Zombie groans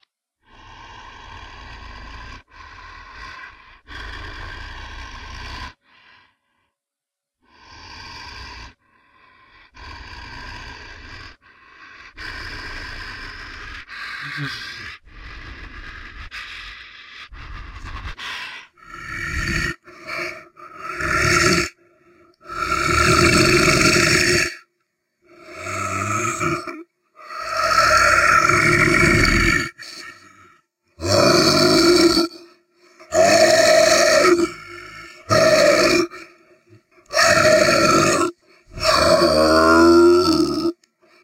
0:09.6 0:21.8, 0:22.4 0:24.7, 0:25.3 0:40.9

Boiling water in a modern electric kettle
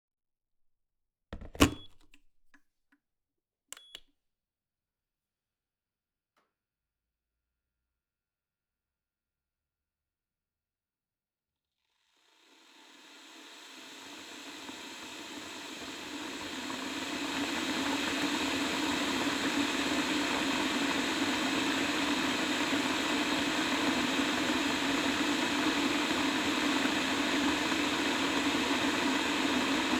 0:12.2 0:29.9

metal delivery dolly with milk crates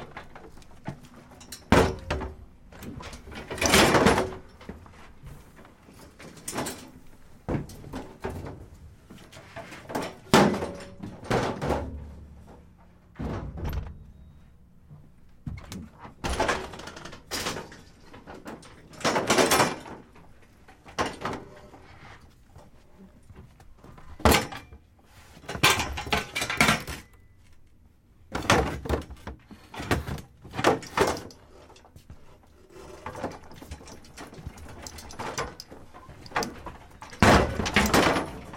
0:00.0 0:14.4, 0:23.9 0:27.5, 0:28.3 0:38.5

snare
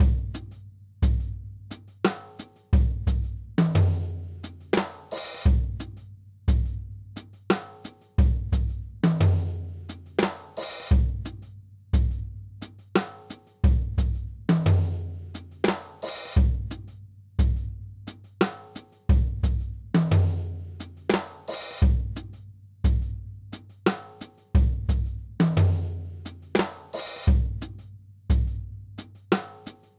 0:26.6 0:27.2

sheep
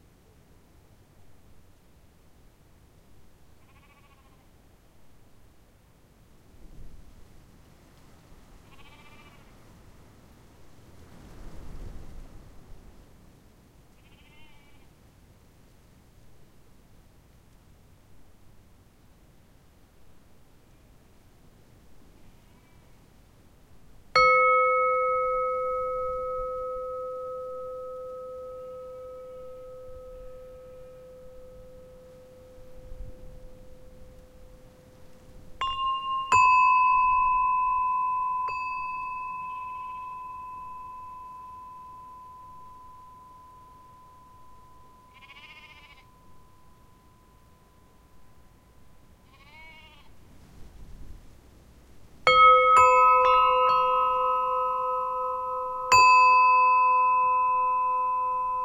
0:03.6 0:04.5, 0:08.6 0:09.6, 0:13.9 0:14.9, 0:45.1 0:46.1, 0:49.2 0:50.2

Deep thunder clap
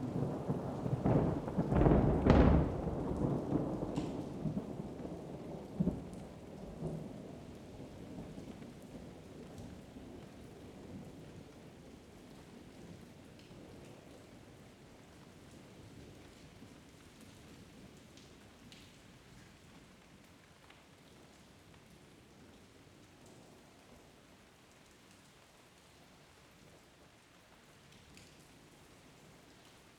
0:00.1 0:05.0

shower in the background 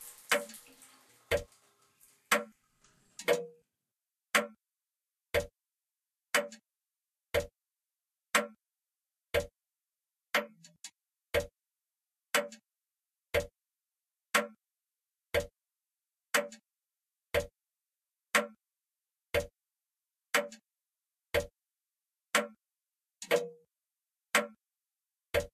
0:00.0 0:03.5

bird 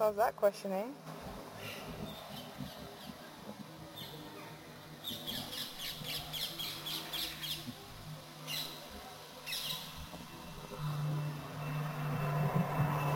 0:09.4 0:09.9

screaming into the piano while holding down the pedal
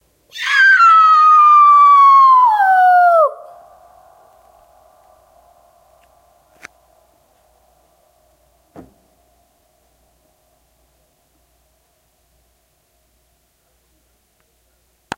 0:00.3 0:03.6

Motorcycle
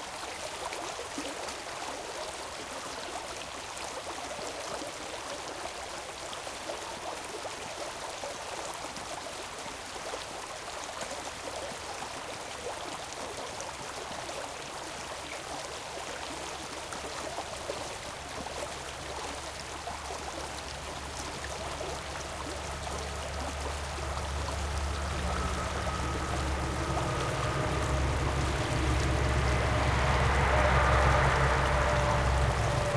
0:23.6 0:32.9

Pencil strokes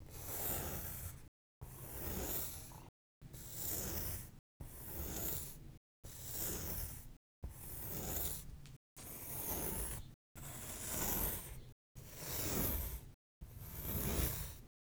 0:06.4 0:11.6, 0:12.3 0:13.0

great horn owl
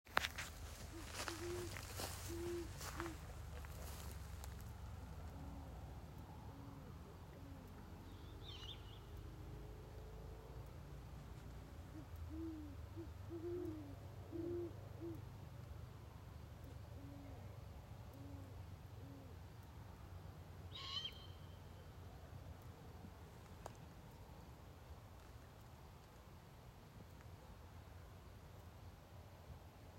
0:00.4 0:08.6

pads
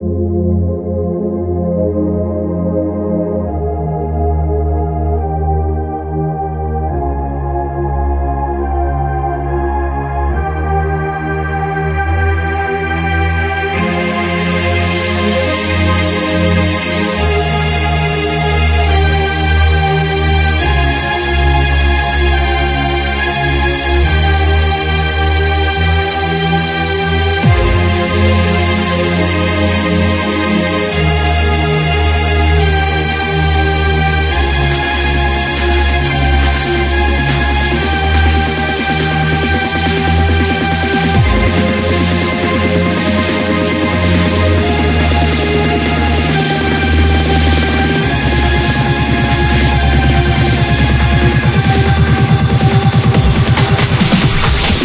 0:31.8 0:54.8

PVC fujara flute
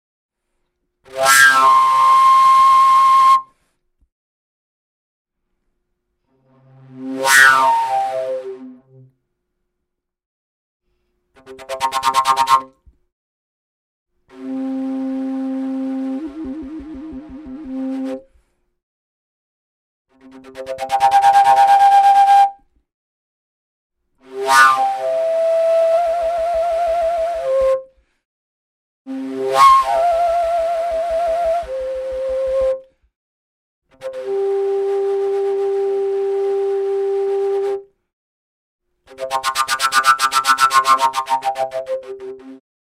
0:01.1 0:03.7, 0:07.2 0:09.0, 0:14.4 0:18.2, 0:20.6 0:22.6, 0:24.3 0:28.0, 0:29.1 0:33.0, 0:34.0 0:37.9, 0:39.1 0:42.6

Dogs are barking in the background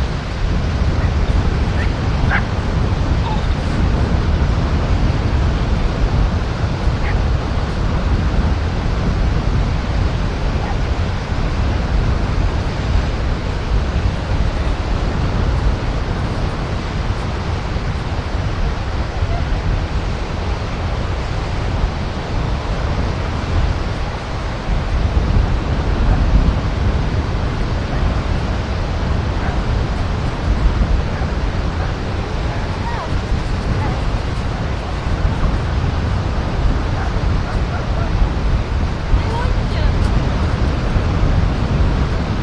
0:01.0 0:02.6, 0:07.0 0:07.3, 0:10.6 0:10.9, 0:29.3 0:30.0, 0:36.8 0:38.2

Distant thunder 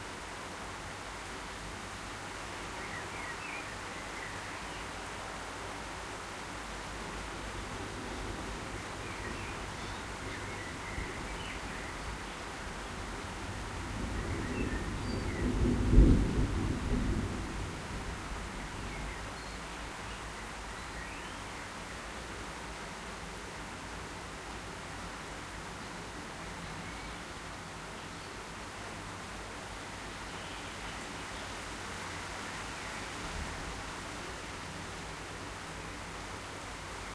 0:13.6 0:19.0

